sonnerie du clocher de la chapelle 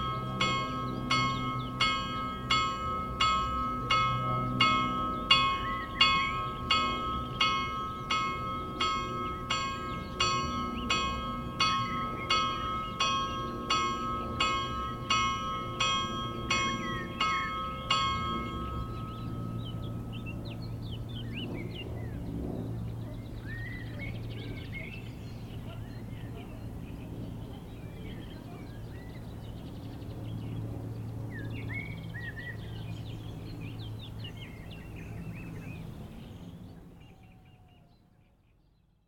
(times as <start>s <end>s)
0.0s 20.8s